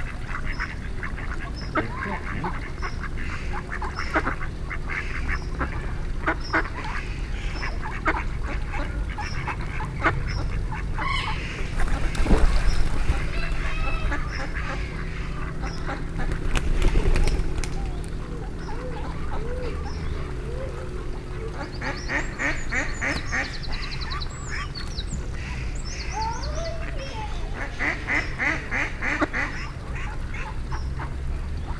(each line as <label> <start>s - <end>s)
ducks 0.0s - 31.7s
pigeons 11.0s - 31.7s